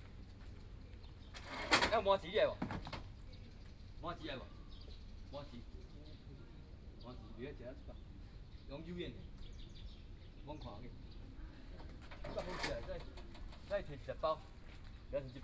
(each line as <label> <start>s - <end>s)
Driving a small truck selling produce 11.7s - 15.4s